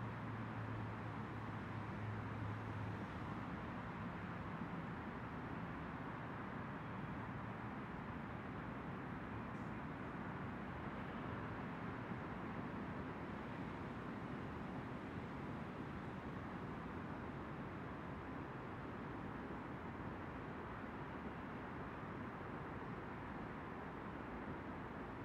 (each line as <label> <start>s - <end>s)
traffic encircling the park 0.0s - 25.2s